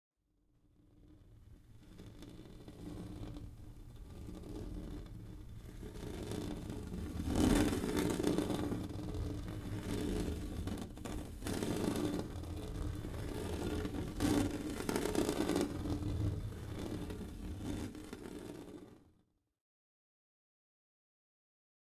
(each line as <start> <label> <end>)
1.8 Scratching a plexi window with my nails 19.0